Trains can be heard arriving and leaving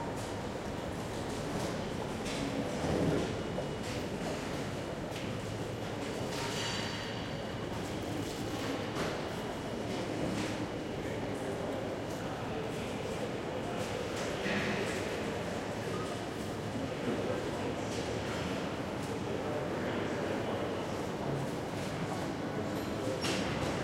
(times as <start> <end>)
0.0 6.3, 6.9 14.4